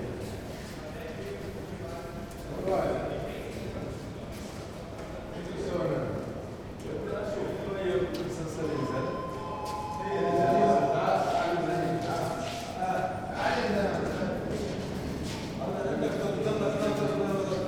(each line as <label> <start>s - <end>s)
6 elevators 8.7s - 13.8s
steps 9.6s - 15.6s